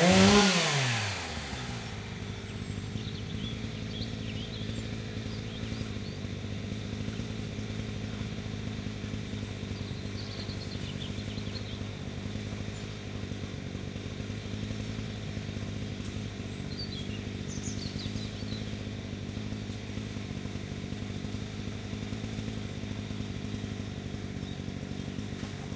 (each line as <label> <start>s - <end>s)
chainsaw clearing a plot of land 0.0s - 25.7s
strimmers 0.0s - 25.7s